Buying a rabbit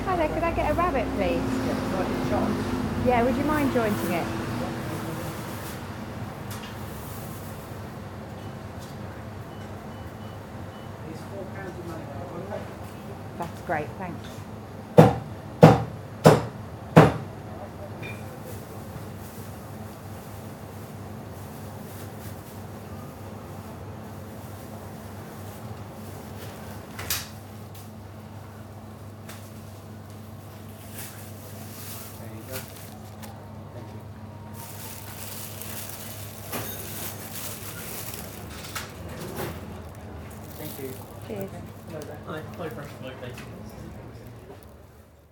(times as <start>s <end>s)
28.4s 45.2s